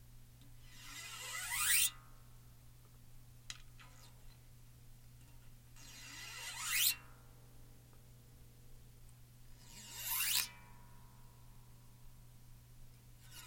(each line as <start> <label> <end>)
0.6 running a coin up and down on a bass guitar string 2.0
5.3 running a coin up and down on a bass guitar string 7.2
9.5 running a coin up and down on a bass guitar string 10.9
13.2 running a coin up and down on a bass guitar string 13.4